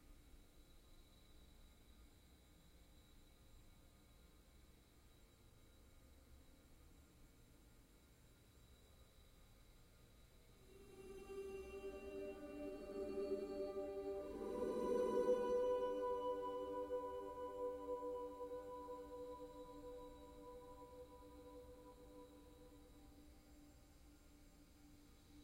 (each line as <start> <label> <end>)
10.6 drone 23.6